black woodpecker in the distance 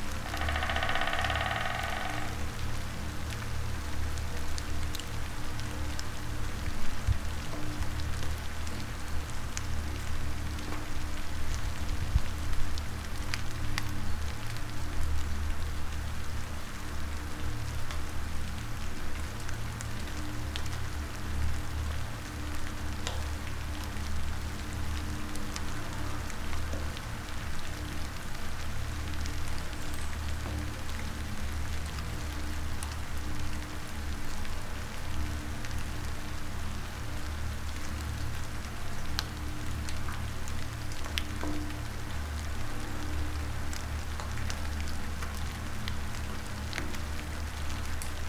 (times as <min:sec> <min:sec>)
0:00.2 0:02.6